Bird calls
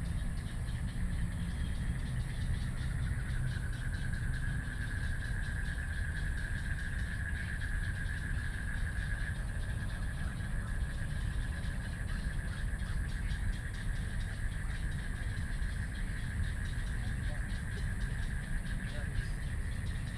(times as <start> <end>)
11.4 20.1